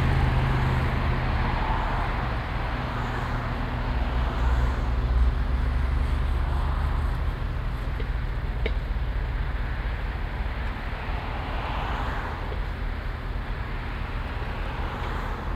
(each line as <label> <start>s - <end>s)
Traffic on and below a bridge 0.0s - 15.5s
road works 0.0s - 15.5s
trucks delivering asphalt waiting for discharging 0.0s - 15.5s